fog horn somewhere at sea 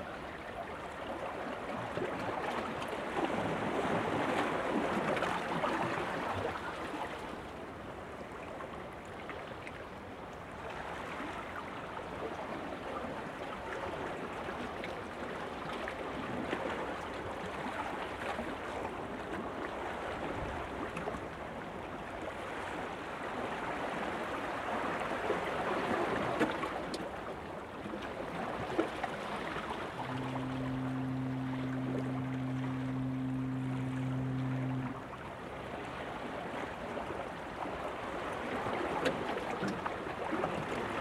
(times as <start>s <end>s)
29.3s 37.6s